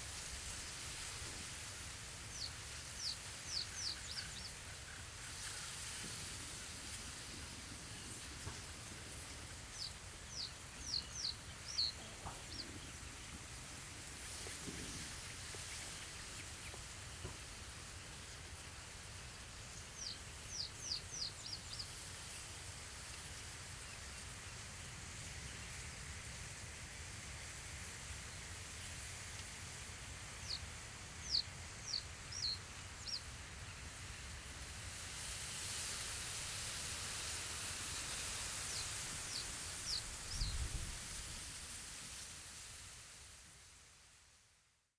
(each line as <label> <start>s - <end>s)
wind in reed 35.8s - 42.9s